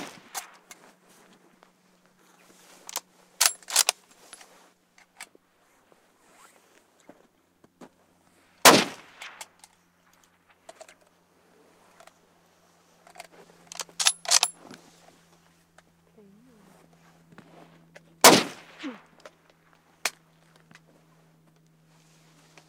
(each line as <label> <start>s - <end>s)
rifle fire shot shots 0.0s - 0.6s
rifle fire shot shots 8.6s - 9.4s
rifle fire shot shots 18.2s - 19.0s